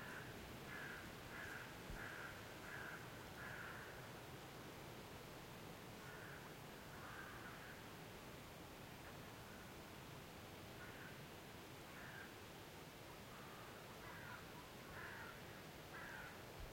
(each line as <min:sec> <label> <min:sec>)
0:00.0 wind in trees 0:16.7
0:00.0 crows 0:04.0
0:06.0 crows 0:07.8
0:10.8 crows 0:11.2
0:11.9 crows 0:12.4
0:13.3 crows 0:16.4